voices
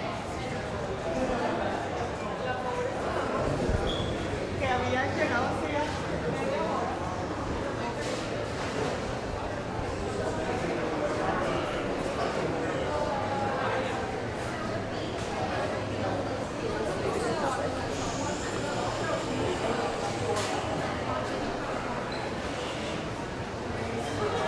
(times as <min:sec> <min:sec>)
0:09.5 0:24.4